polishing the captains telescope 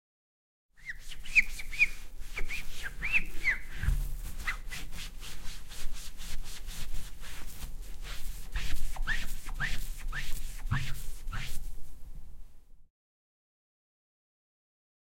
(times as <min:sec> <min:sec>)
0:04.3 0:11.7